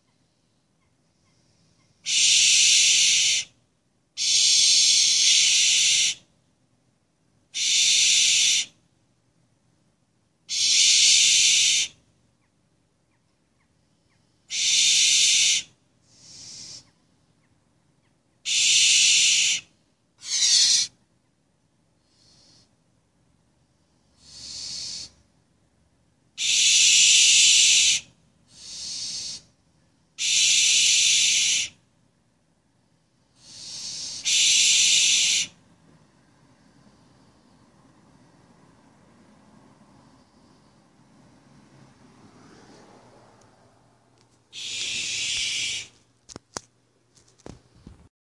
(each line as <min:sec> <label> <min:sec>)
0:01.2 Owls hissing 0:03.6
0:04.2 Owls hissing 0:06.3
0:07.5 Owls hissing 0:08.8
0:10.5 Owls hissing 0:12.0
0:14.4 Owls hissing 0:17.0
0:18.4 Owls hissing 0:21.0
0:22.0 Owls hissing 0:22.7
0:24.0 Owls hissing 0:25.2
0:26.4 Owls hissing 0:29.6
0:30.2 Owls hissing 0:31.8
0:33.3 Owls hissing 0:35.6
0:44.5 Owls hissing 0:46.0